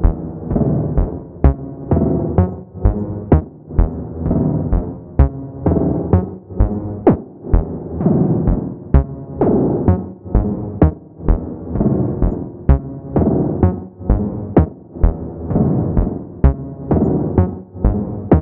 synthesizer 0.0 - 18.4

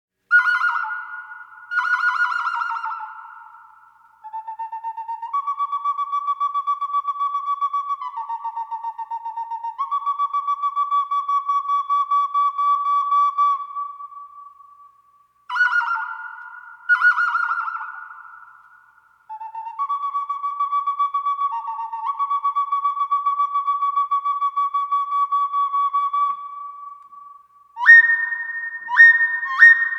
Clay whistle that imitates some birdsongs 0.3 - 29.9

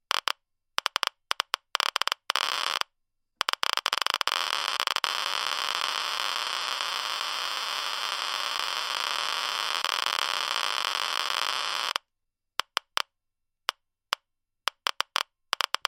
geiger counter 0.1 - 2.8
geiger counter 3.4 - 12.0

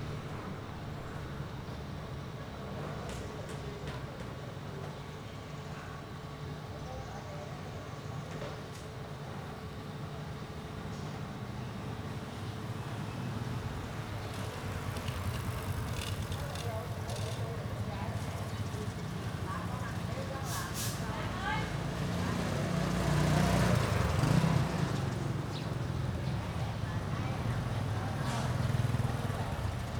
distant chatter 0.0 - 29.9
tuk-tuks 8.0 - 29.9
Passing motorbikes 11.4 - 29.9
birdsong 23.3 - 29.9

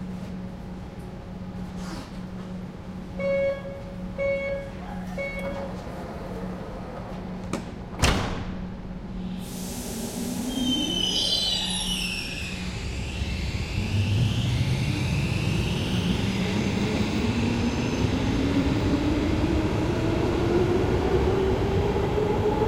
metro starts to run 0.0 - 22.6
train leaving and receding 0.0 - 22.6
door signal from outside 3.2 - 5.7
doors close 4.7 - 8.7

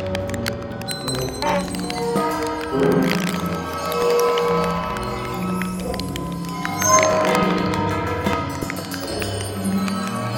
cello 0.0 - 10.3
waterphone 0.9 - 8.0

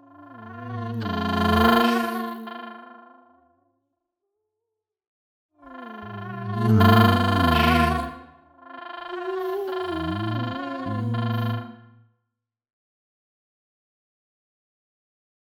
glitchy alien tones 6.2 - 8.1
glitchy alien tones 9.8 - 11.7

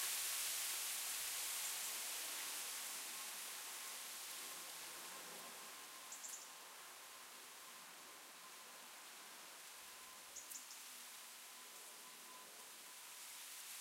Wind Blowing Leaves in Tree 10.7 - 13.8

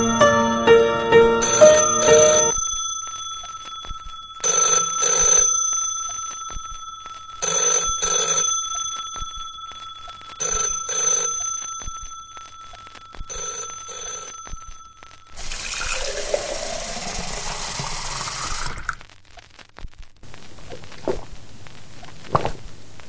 phone rings 0.0 - 16.6

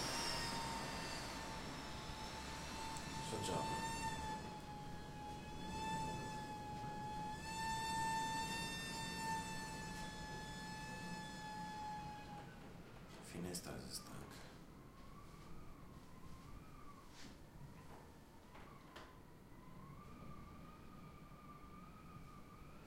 hiss 0.0 - 3.0
whistle 0.0 - 12.2

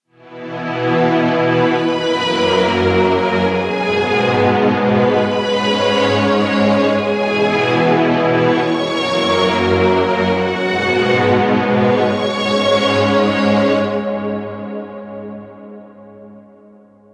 string orchestra 0.2 - 14.8

